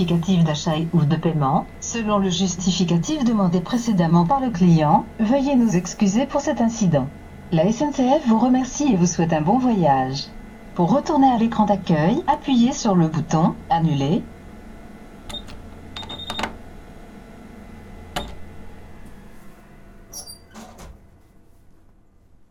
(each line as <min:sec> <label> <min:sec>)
0:00.0 Train ticket machine 0:01.2
0:01.8 Train ticket machine 0:04.6
0:05.4 Train ticket machine 0:06.3
0:15.2 Train ticket machine 0:16.8
0:17.9 Train ticket machine 0:20.8